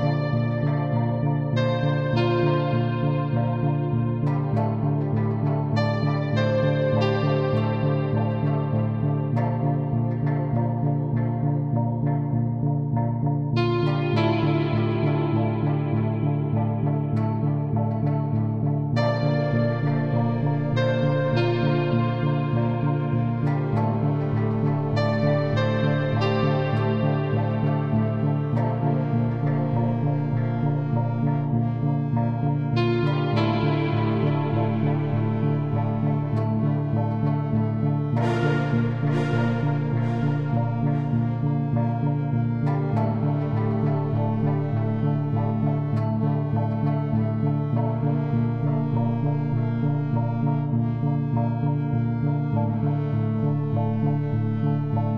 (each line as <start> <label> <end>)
0.0 synth 55.1